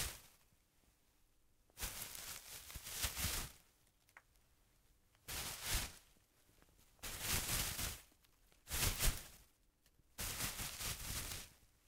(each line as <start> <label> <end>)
1.8 PLANT FOLIAGE RUSTLE 3.6
10.2 PLANT FOLIAGE RUSTLE 11.5